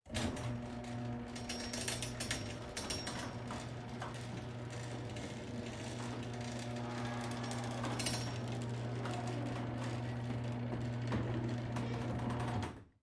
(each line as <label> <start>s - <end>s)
mechanical garage door closing 0.1s - 13.0s